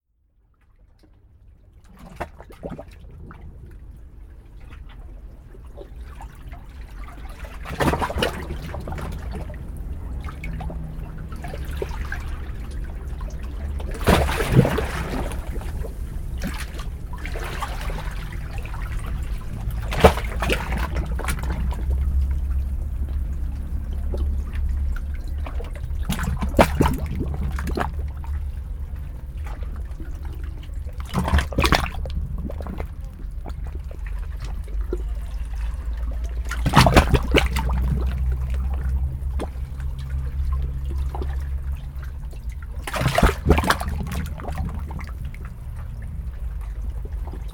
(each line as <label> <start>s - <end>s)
suck and draw of waves through the rikrak 0.9s - 47.5s